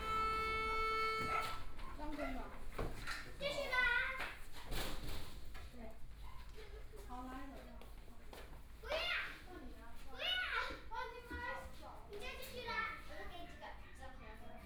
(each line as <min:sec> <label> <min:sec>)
0:00.0 Traffic Sound 0:01.6
0:00.0 Children are practicing the violin 0:01.7